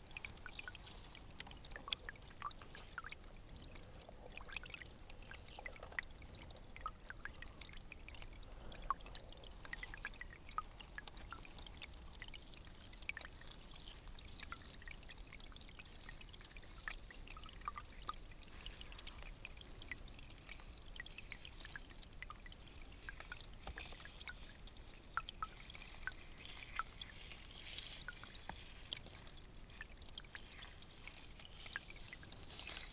0.0s dripping 32.9s
0.0s stream 32.9s

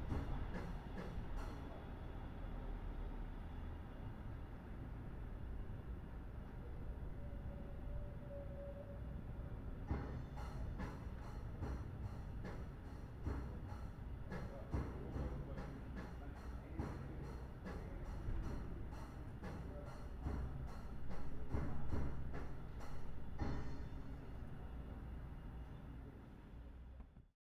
0.0s Drummer is practicing 1.8s
9.8s Drummer is practicing 24.5s

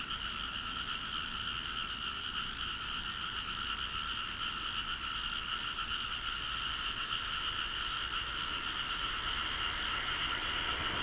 0.0s Frog croak 11.0s
7.2s Traffic sound 11.0s

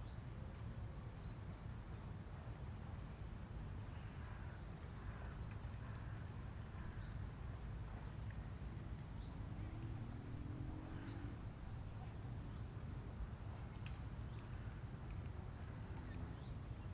0.0s paddle boats 16.9s
0.7s motor boats pass by 16.9s
8.8s Small motorized airplanes fly by 12.4s

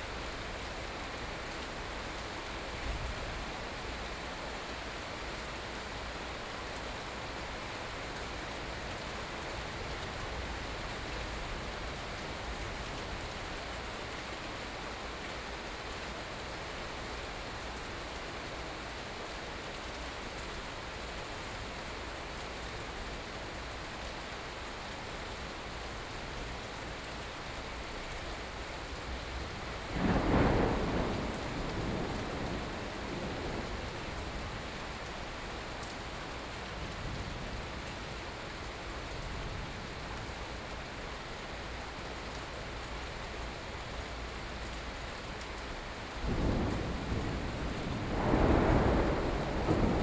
29.2s Upcoming thunderstorm 37.9s
46.2s Upcoming thunderstorm 50.0s

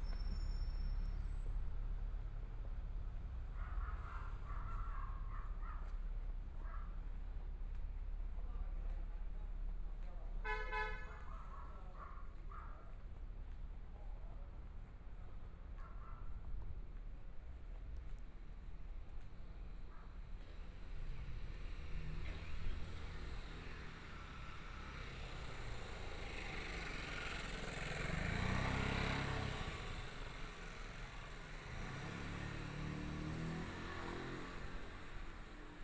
0.0s Traffic Sound 35.8s
0.0s Walking through the small streets 35.8s
22.0s Motorcycle sound 35.8s

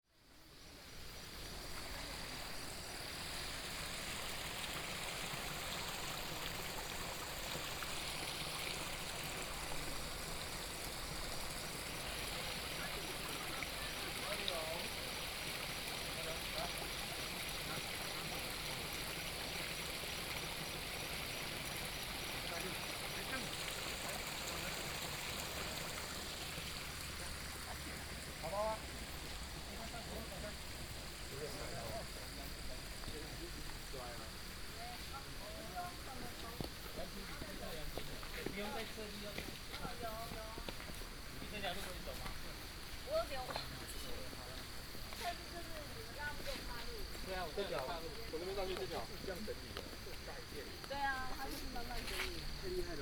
0.2s Stream sound 53.0s

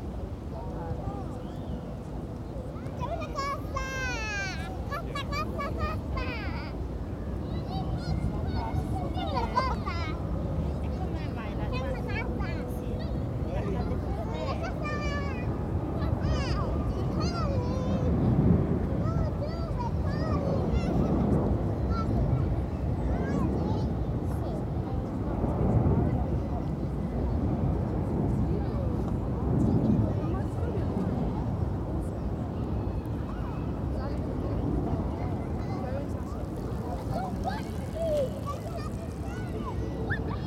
0.0s planes 40.4s
0.0s wind 40.4s

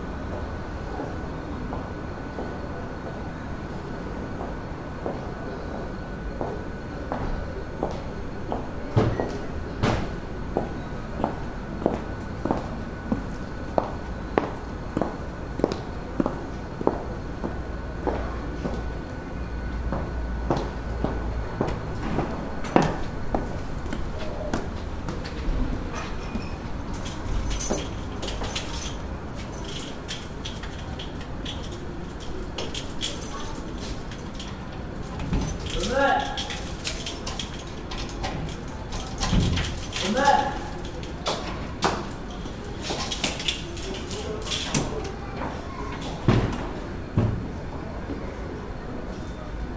6.4s steps of a woman coming home 18.9s
19.7s steps of a woman coming home 46.8s

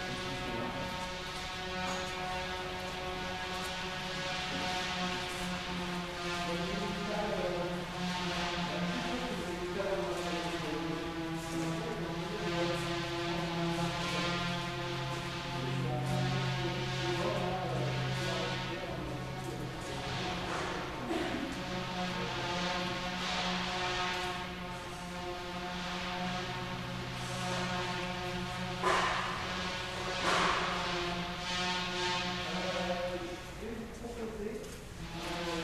0.0s electric saw 33.1s

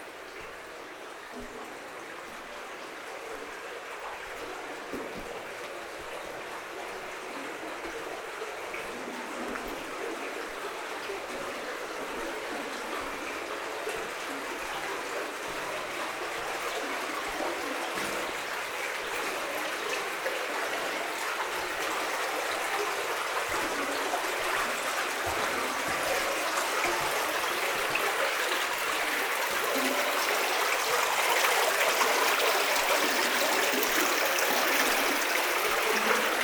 0.0s Water is going into a flooded area 36.4s
20.6s walking in the underground iron mine 29.4s

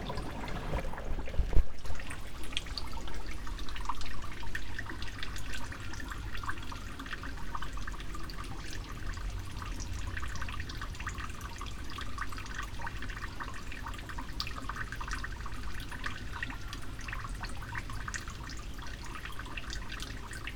0.0s water through long haired moss 3.9s

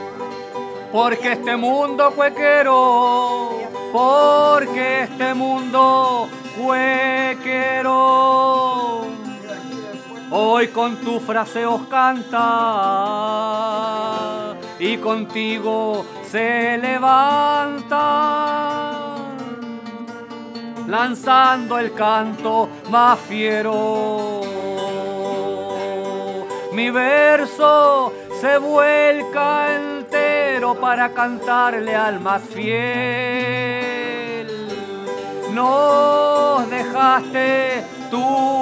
0.0s Singing during a funeral 19.4s
20.9s Singing during a funeral 38.6s

